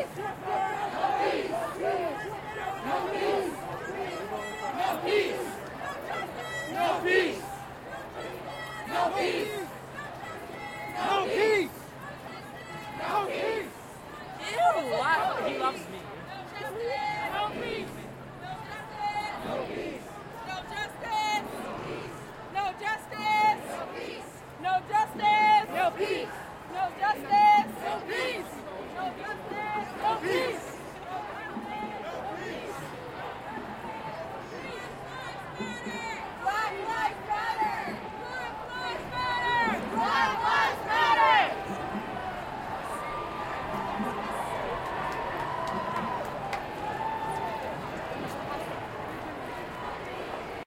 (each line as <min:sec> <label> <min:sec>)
0:00.0 Crowd Protest March passing 0:50.6